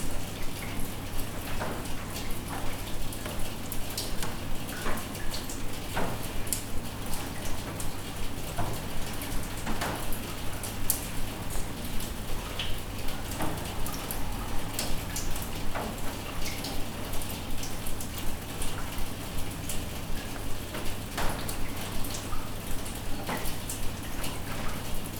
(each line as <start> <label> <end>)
0.0 dripping rain from rooftop 25.1